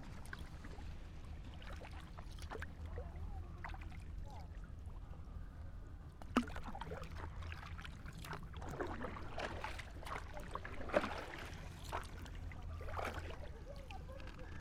0.0s paddle boat on the back waters 14.6s

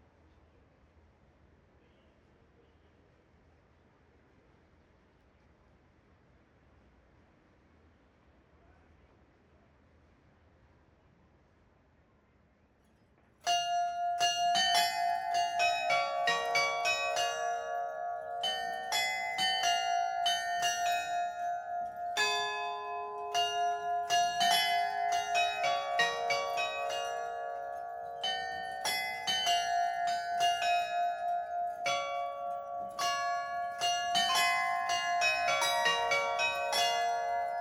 13.5s Glockenspiel 37.6s

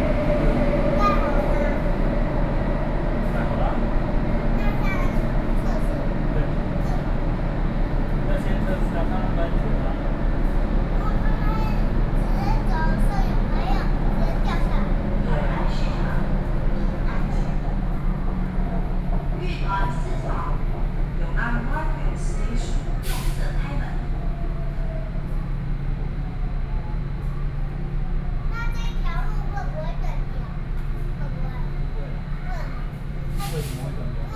0.0s inside the MRT Trains 34.3s

